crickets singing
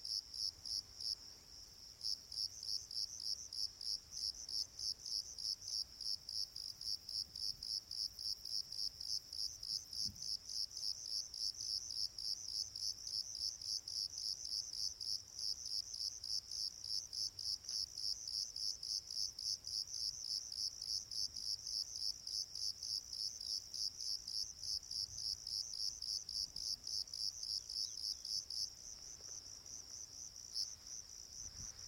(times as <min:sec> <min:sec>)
0:21.7 0:31.8